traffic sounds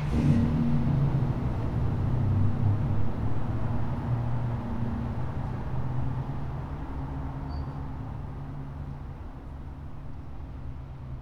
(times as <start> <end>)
0.0 6.3